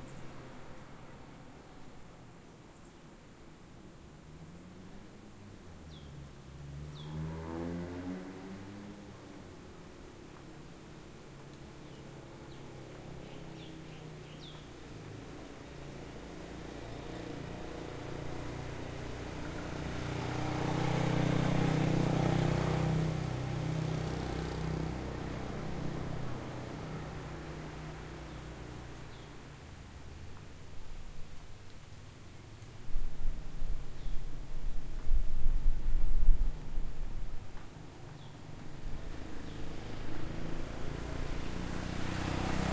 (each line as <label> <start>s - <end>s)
Light Wind 0.0s - 42.7s
Near and Light Traffic 0.0s - 42.7s
Birds 11.7s - 14.8s
Birds 38.0s - 40.0s